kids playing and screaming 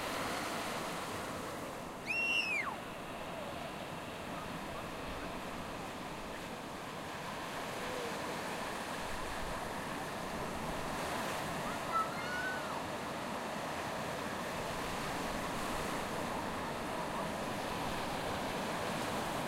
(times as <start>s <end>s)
11.7s 12.8s